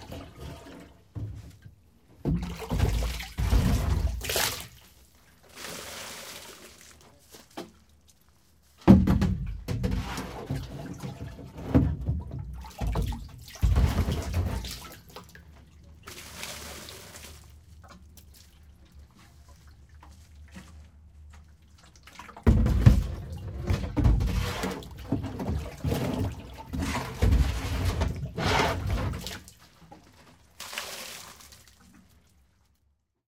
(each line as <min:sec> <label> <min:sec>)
0:00.0 Scooping Water with Plastic Watering Can 0:33.0